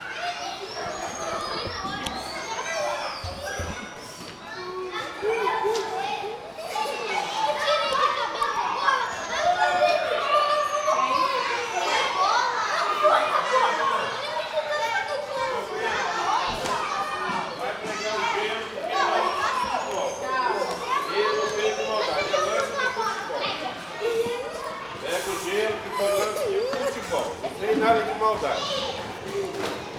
0.0s Children voices 29.9s

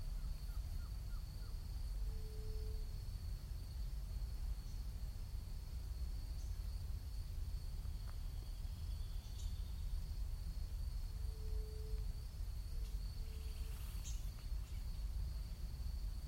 0.0s faint wind overhead 16.2s
0.0s insects 16.2s
7.8s birds 10.2s
12.7s birds 15.6s

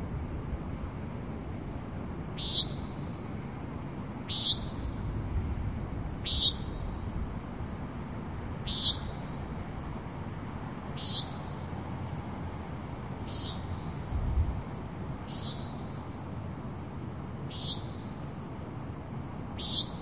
2.4s bird calls 3.2s
4.3s bird calls 5.1s
6.2s bird calls 7.1s
8.6s bird calls 9.6s
10.9s bird calls 11.8s
13.2s bird calls 14.1s
15.2s bird calls 16.2s
17.5s bird calls 18.3s
19.6s bird calls 20.0s

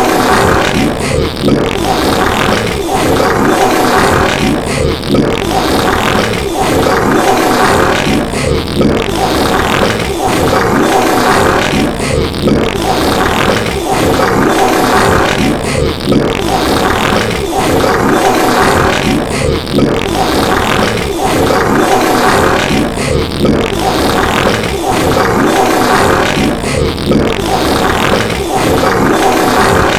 0.0s burp 29.9s
0.0s fart 29.9s
0.0s gurgle 29.9s
0.0s vomit 29.9s

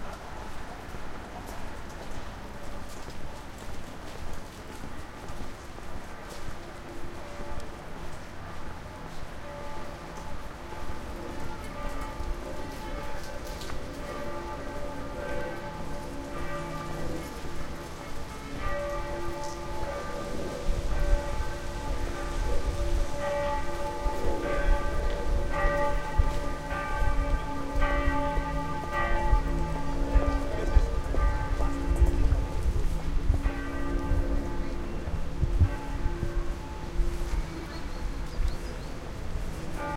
10.8s bell 38.8s

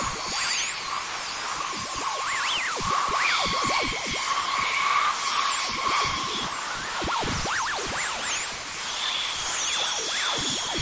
0.0s Space birds in battle with laser insects 10.8s
0.0s space drone 10.8s

